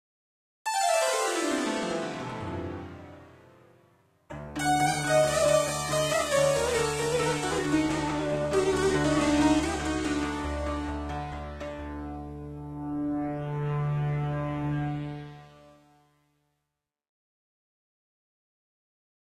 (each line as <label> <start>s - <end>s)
Sitar 0.7s - 16.0s